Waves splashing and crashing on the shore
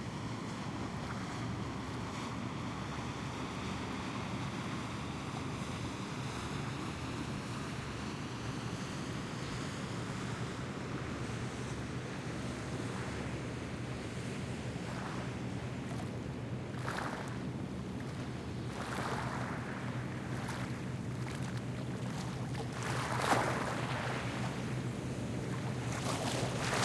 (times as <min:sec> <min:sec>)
0:09.9 0:26.8